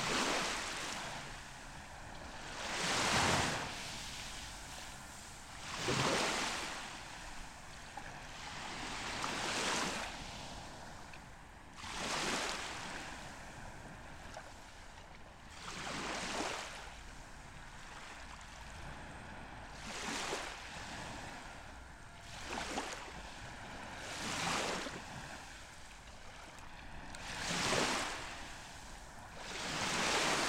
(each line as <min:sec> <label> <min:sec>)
0:00.0 sea 0:30.4